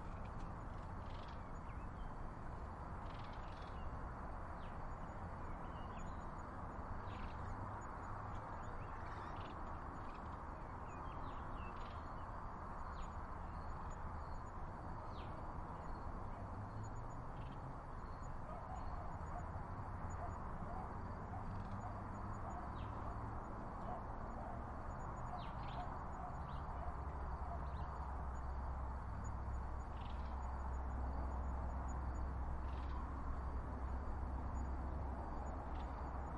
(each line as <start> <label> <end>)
0.0 crickets 36.3